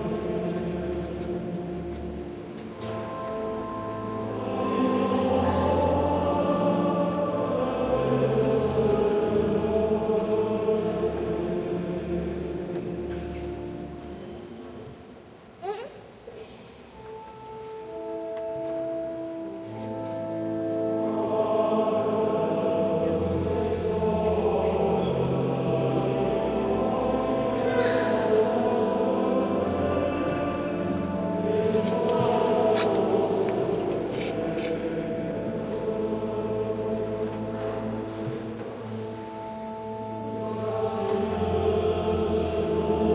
0.0s choir of fifteen monks singing 2.1s
0.0s little church organ 15.0s
0.0s tourists move around making noises 43.1s
2.8s choir of fifteen monks singing 13.8s
16.8s little church organ 43.1s
19.8s choir of fifteen monks singing 43.1s
31.7s clothes brushing 35.8s

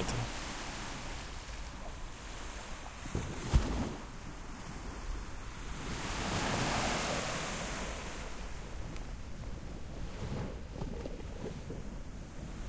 0.0s calm sea 12.6s

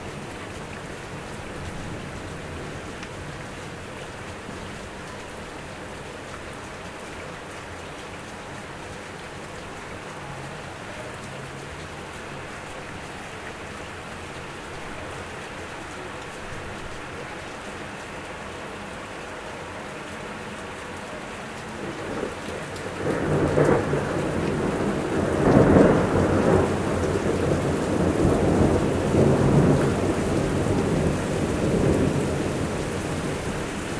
0.0s Rain 33.9s
21.8s Little Thunder 33.9s

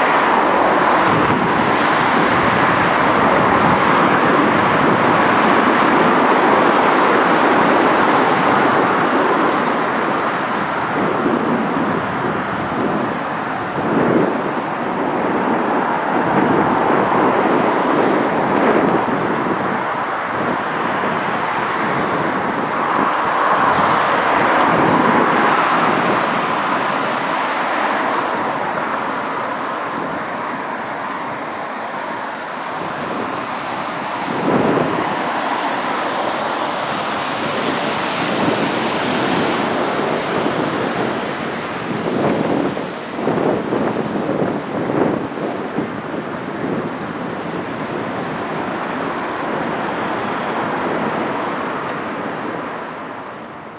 0.0s Cars passing by on a road 53.7s

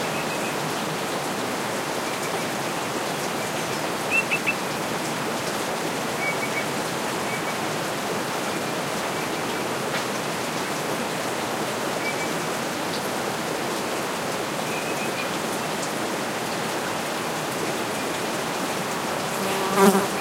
0.0s stream 20.2s
4.1s bird call 4.6s

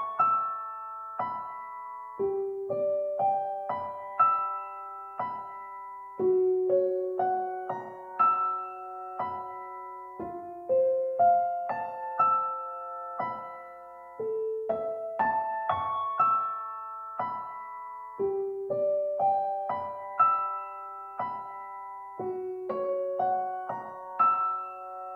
0.0s Piano 25.1s

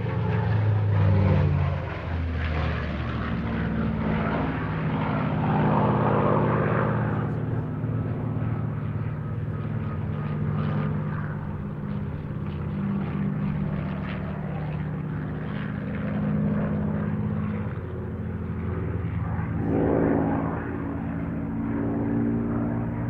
0.0s powerful Merlin's and Griffon engines 23.0s

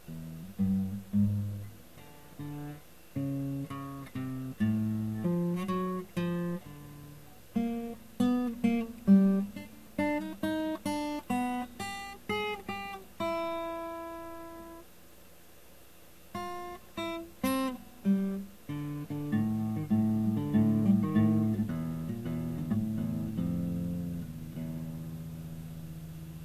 0.0s guitar 26.4s

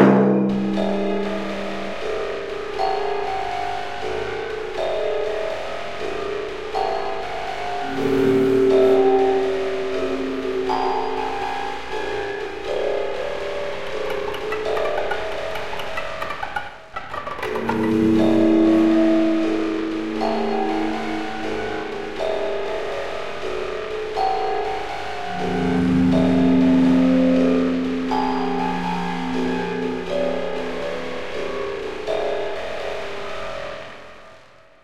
0.0s timpani 2.5s
7.8s jaw harp 23.0s
7.8s timpani 22.3s
25.2s timpani 32.1s

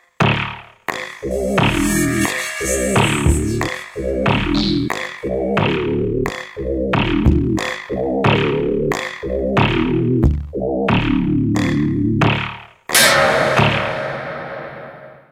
0.2s bass 12.9s
0.9s synth drums 5.8s

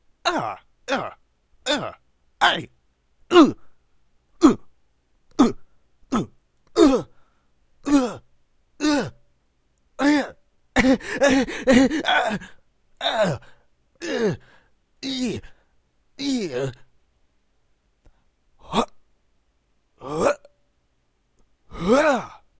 0.2s Grunts - Male 2.7s
3.3s Grunts - Male 3.7s
4.4s Grunts - Male 4.7s
5.3s Grunts - Male 7.2s
7.8s Grunts - Male 8.2s
8.8s Grunts - Male 9.2s
10.0s Grunts - Male 15.6s
16.2s Grunts - Male 16.9s
18.6s Grunts - Male 19.0s
20.0s Grunts - Male 20.5s
21.7s Grunts - Male 22.5s

